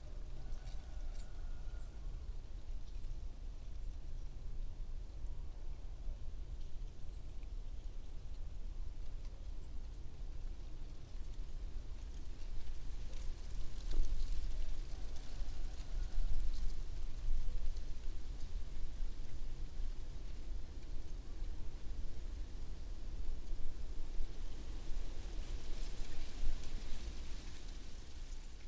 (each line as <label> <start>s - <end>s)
branches with dry leaves 0.0s - 2.0s
rooster 0.1s - 2.1s
branches with dry leaves 8.8s - 28.6s
rooster 14.8s - 16.7s